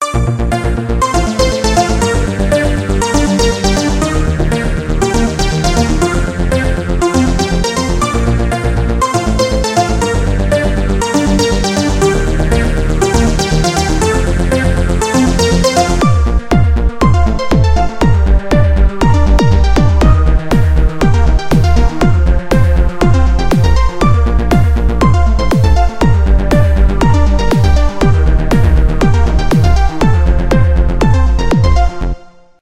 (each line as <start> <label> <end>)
0.0 built-in synth & effects 32.3